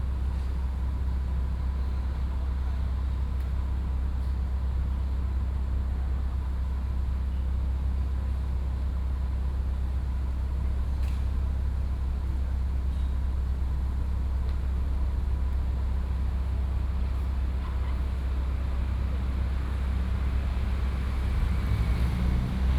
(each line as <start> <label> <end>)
16.7 Traffic Sound 22.7